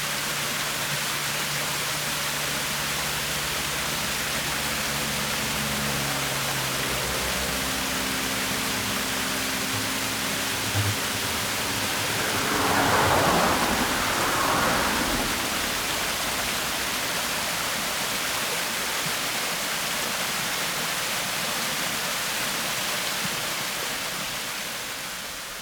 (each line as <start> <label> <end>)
0.0 Traffic Sound 18.9
0.0 small waterfall 25.6